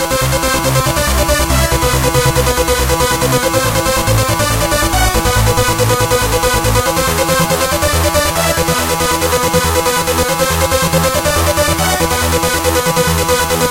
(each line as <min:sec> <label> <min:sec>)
0:00.0 bassline 0:13.7
0:00.0 strings 0:13.7
0:00.0 saw melody 0:13.7
0:00.4 beat 0:13.0